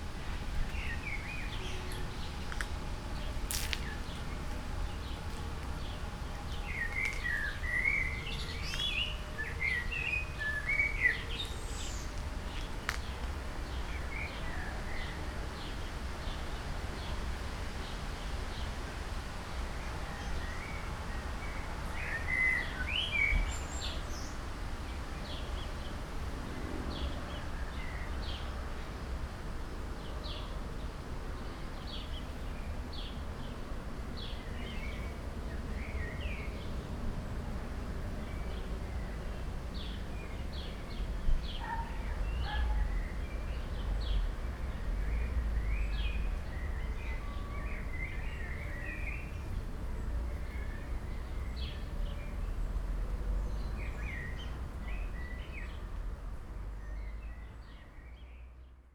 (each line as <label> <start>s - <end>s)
short walk in a small patch of woods 0.0s - 9.8s
short walk in a small patch of woods 10.8s - 14.0s
birds 38.3s - 55.8s